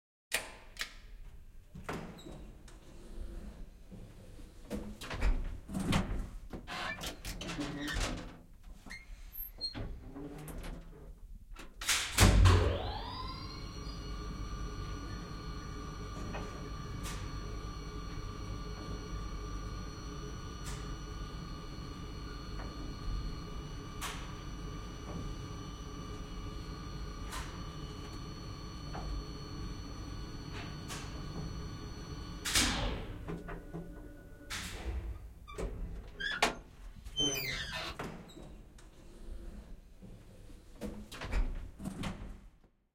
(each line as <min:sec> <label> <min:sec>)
0:12.4 elevetar, lift, stop 0:35.2